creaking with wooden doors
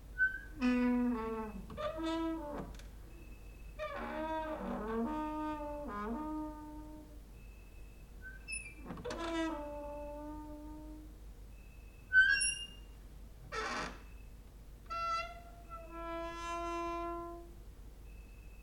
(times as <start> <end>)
0.2 7.2, 8.3 11.1, 12.1 12.9, 13.5 17.5